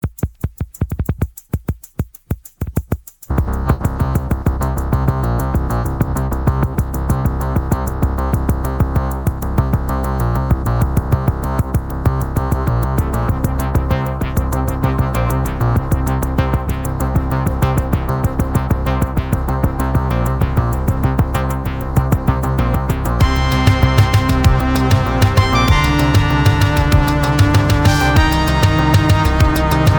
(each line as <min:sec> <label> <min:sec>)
0:21.7 drumkit 0:29.9
0:23.2 synth 0:29.9